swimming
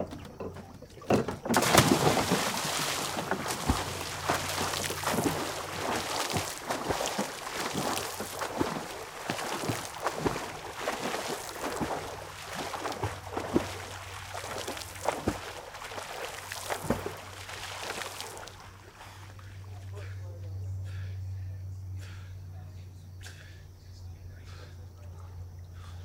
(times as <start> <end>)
0.0 20.2